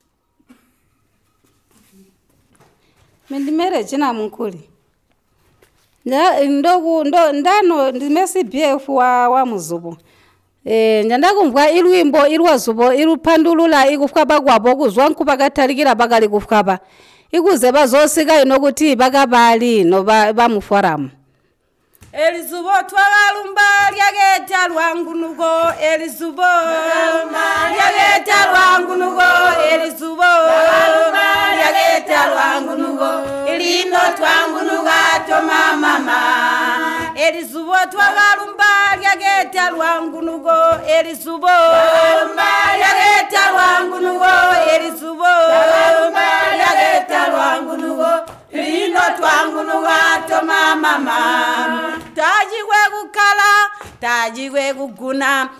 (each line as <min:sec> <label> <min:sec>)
0:22.2 Zubo song 0:53.4